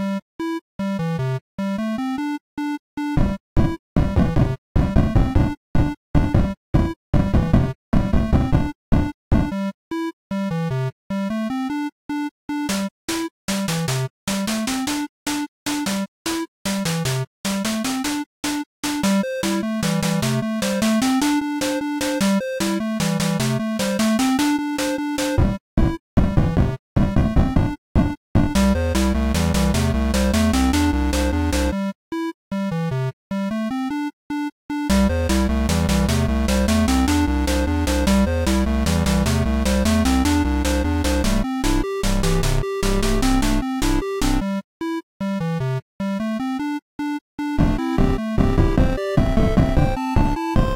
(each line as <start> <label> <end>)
17.8 Pixel Song 25.4
28.5 Pixel Song 31.9
33.8 Pixel Song 44.6
46.5 Pixel Song 50.7